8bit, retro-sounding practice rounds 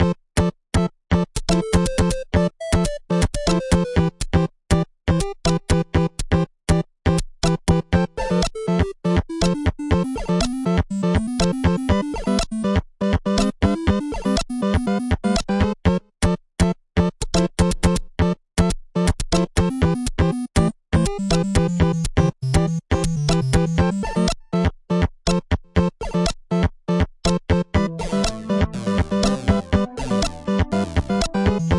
8.5s 12.7s, 21.2s 24.1s, 27.8s 31.7s

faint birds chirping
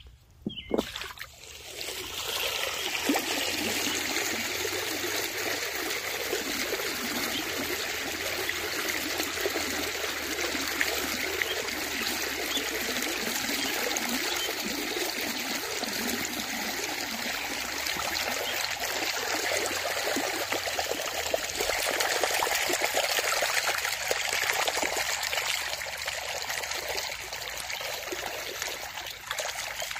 0.0s 0.9s

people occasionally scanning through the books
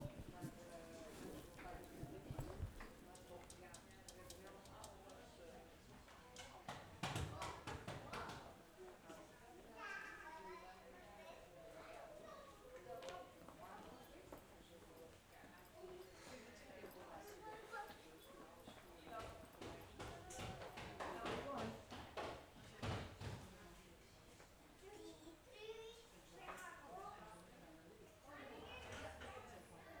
0.0s 9.6s

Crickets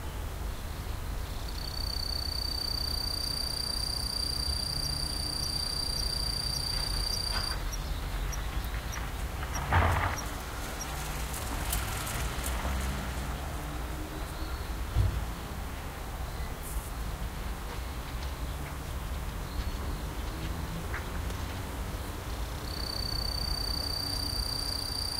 0.8s 15.3s, 21.8s 25.1s

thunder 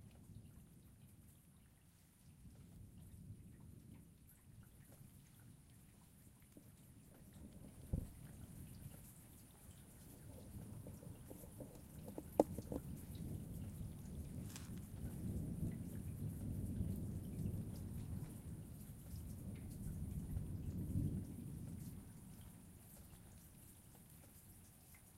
7.3s 11.8s, 12.6s 22.2s

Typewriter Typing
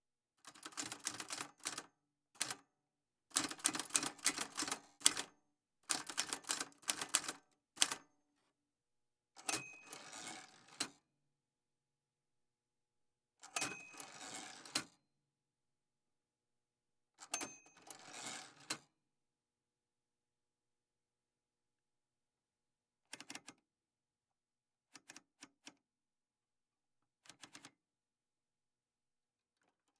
0.6s 1.8s, 3.4s 5.3s, 5.9s 8.0s

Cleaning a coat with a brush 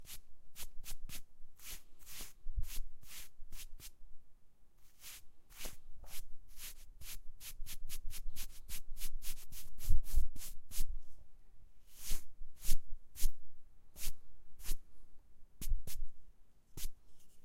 0.0s 3.9s, 4.8s 10.9s

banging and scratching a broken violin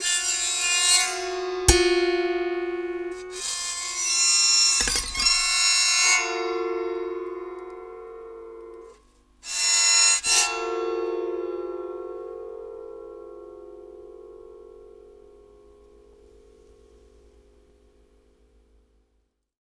0.0s 6.6s

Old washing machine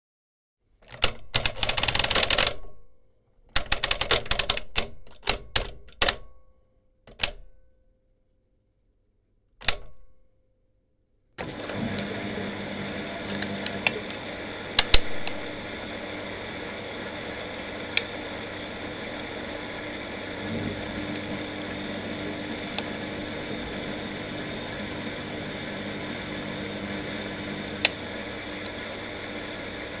11.4s 30.0s

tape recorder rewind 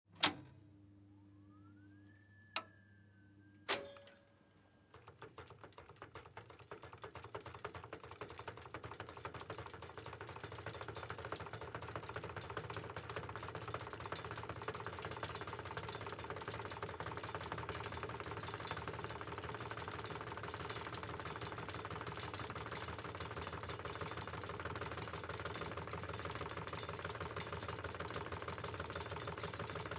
1.5s 6.0s

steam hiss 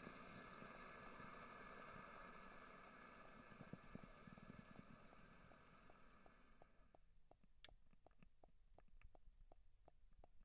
0.0s 6.8s

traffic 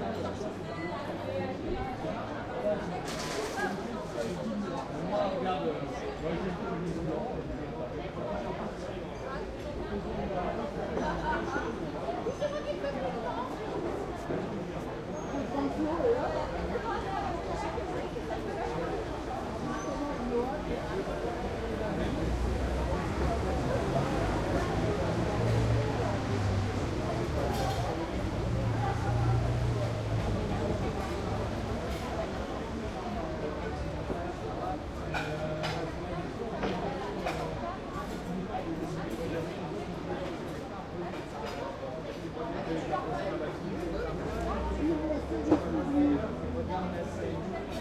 14.9s 47.8s

